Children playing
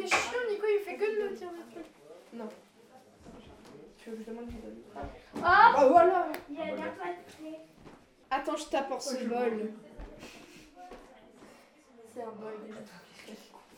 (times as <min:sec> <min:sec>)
0:04.3 0:07.7